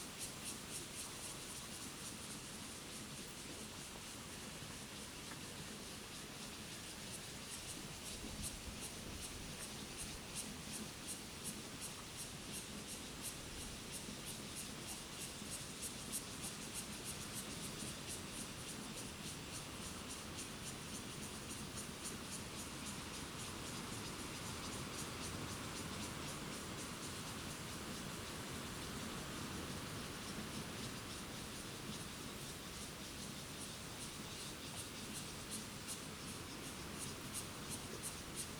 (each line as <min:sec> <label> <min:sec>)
0:00.0 Cicadas 0:38.5
0:00.0 Stream 0:38.5